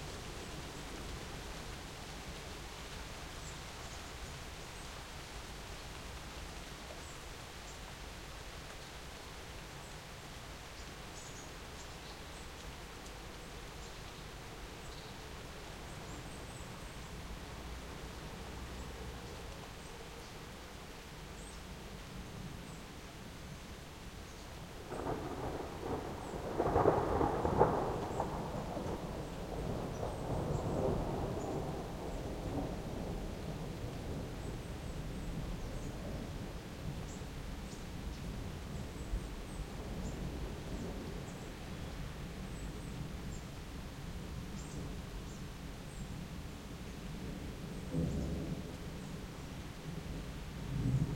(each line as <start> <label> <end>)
0.0 rain 51.1
50.7 thunderclap 51.1